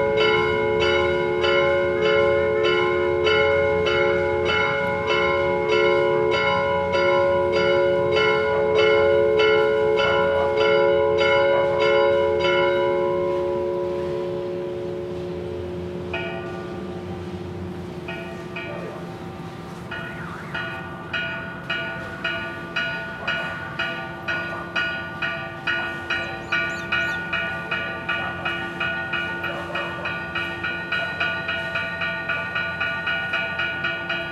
Catedral Bells 0:18.0 - 0:34.3

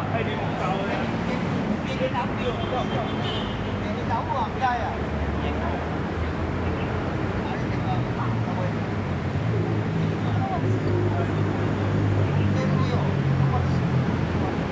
Traffic Sound 0:00.0 - 0:14.7

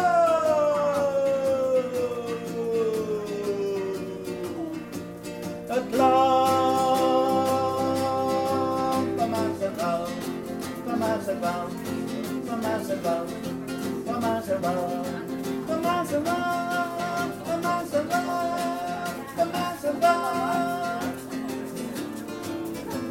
Street musician 0:00.0 - 0:23.1

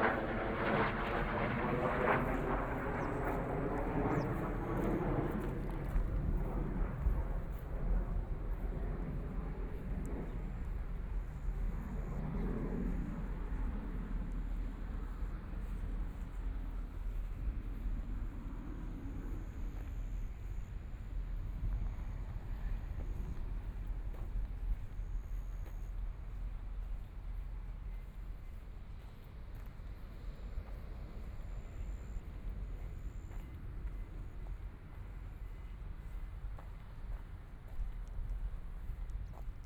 Fighter flight traveling through 0:00.0 - 0:28.2
Walking along the river 0:02.2 - 0:39.6

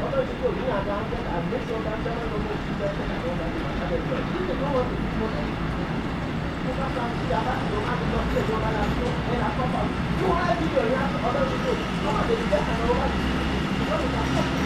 Man talking with cellular phone 0:00.0 - 0:14.6

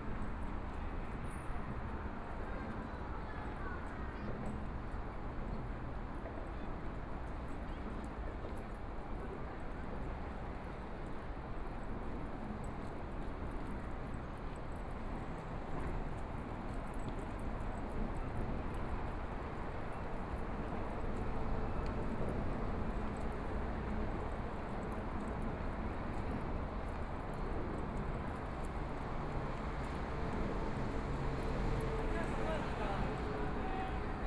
Walking along the river 0:12.2 - 0:34.2
Traffic Sound 0:29.5 - 0:34.2
MRT train sounds 0:30.1 - 0:34.2

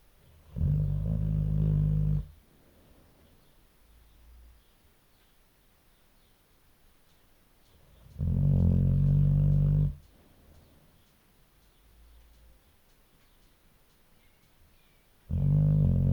snoring 0:00.4 - 0:02.4
snoring 0:08.2 - 0:10.0
snoring 0:15.3 - 0:16.1

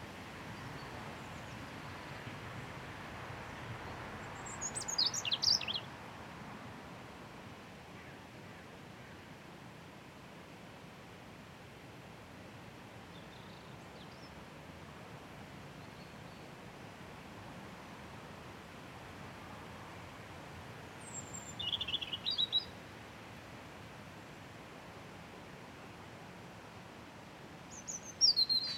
Wind in Trees 0:00.0 - 0:28.7
Robin Singing 0:04.3 - 0:05.9
Robin Singing 0:21.0 - 0:22.8
Robin Singing 0:27.7 - 0:28.7

